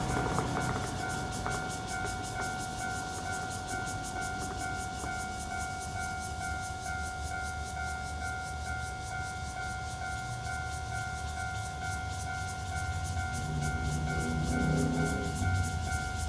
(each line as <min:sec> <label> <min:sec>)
0:00.0 Traffic Sound 0:06.0
0:00.0 Cicadas sound 0:16.2
0:00.0 Train traveling through 0:16.2
0:09.7 Traffic Sound 0:16.2